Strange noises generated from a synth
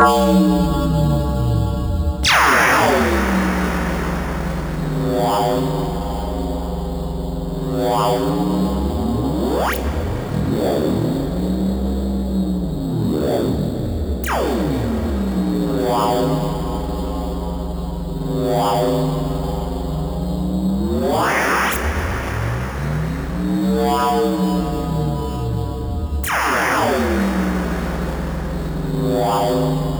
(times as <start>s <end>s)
2.2s 6.2s, 21.0s 25.1s, 26.2s 29.9s